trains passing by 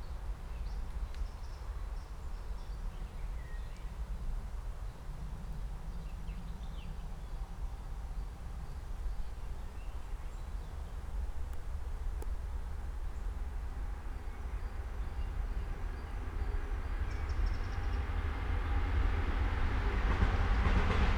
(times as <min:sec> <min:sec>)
0:12.8 0:21.1